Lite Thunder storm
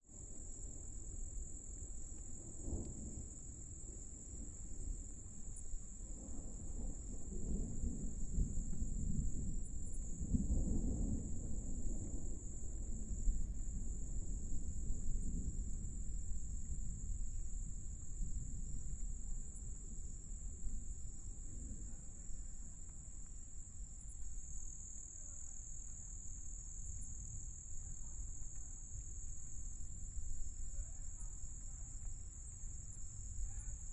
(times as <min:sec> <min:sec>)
0:02.4 0:23.0